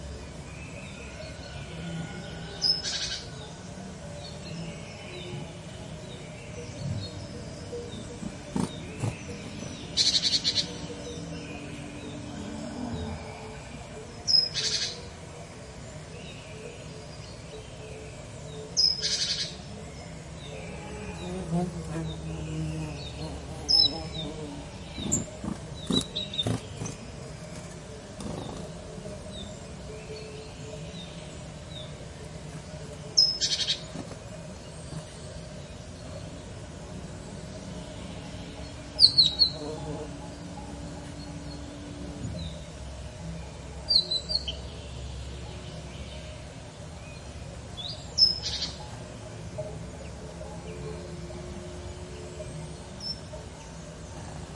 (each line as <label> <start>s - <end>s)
background noise 0.0s - 54.5s
warbler singing 0.0s - 54.5s